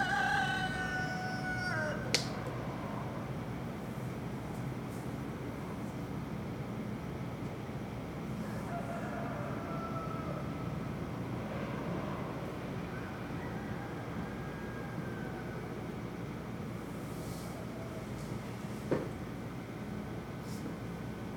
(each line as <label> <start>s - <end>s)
roosters 0.0s - 2.4s
roosters 8.4s - 10.9s
roosters 12.9s - 16.0s